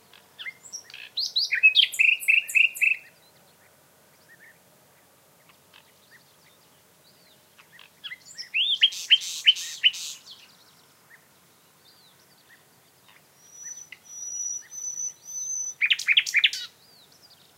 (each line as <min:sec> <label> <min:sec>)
0:00.0 nightingale 0:17.5